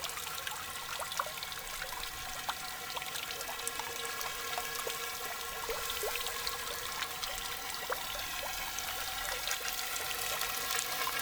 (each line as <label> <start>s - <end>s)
Strange fountain 0.0s - 11.2s